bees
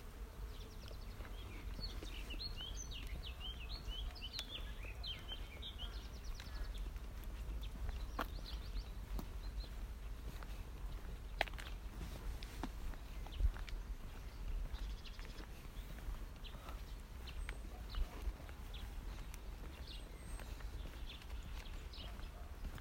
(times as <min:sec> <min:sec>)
0:00.0 0:04.6